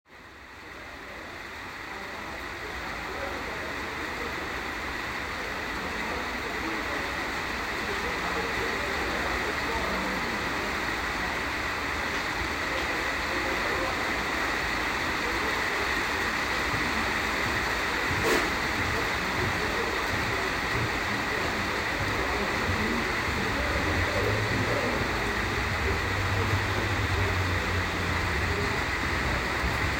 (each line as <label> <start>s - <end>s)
Rain on the roof 0.1s - 29.9s
train 0.1s - 29.9s